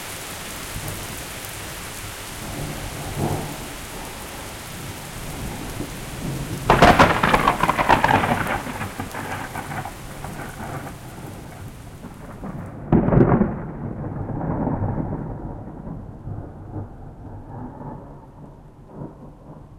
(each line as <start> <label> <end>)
0.0 rain 19.7
2.4 thunderclap 19.7